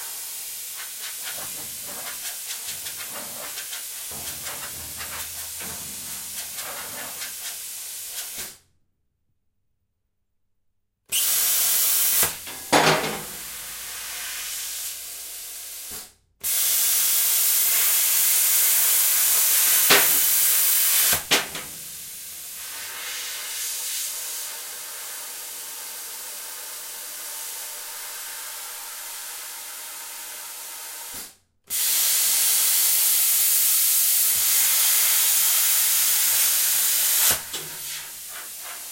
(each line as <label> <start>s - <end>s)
plasma cutter to cut a metal plate in pieces 16.5s - 21.9s
plasma cutter to cut a metal plate in pieces 31.9s - 38.3s